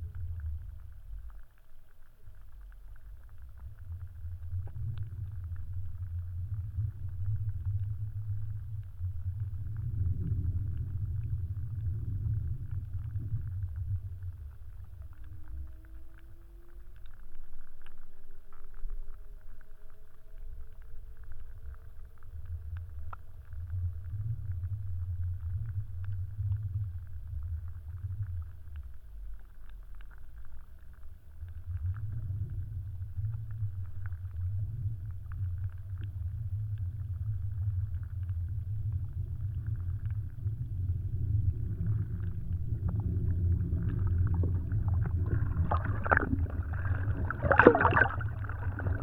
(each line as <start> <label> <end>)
43.0 wavebreaker in river 49.0